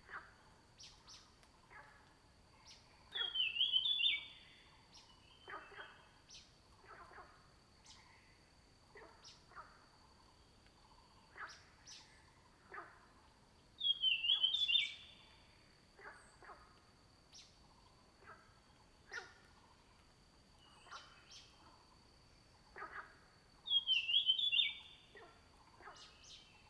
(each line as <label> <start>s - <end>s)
Frogs chirping 13.8s - 16.6s
Frogs chirping 17.3s - 26.6s